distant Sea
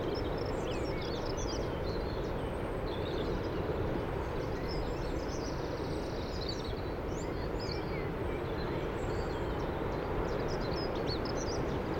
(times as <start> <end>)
8.1 11.9